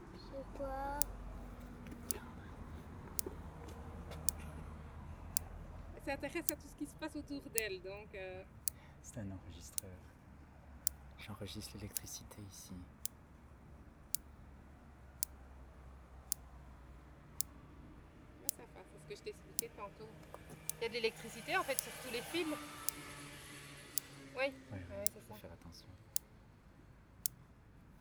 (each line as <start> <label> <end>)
17.2 Electrical fence 25.5